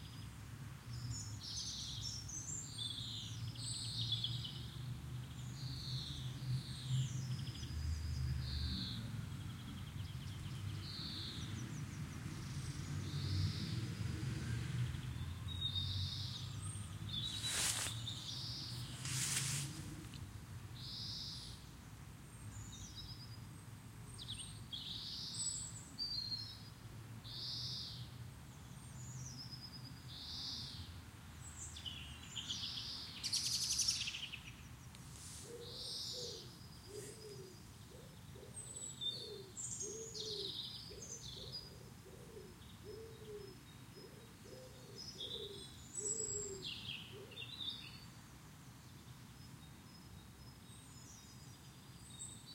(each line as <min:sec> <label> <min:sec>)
0:14.8 birds 0:52.5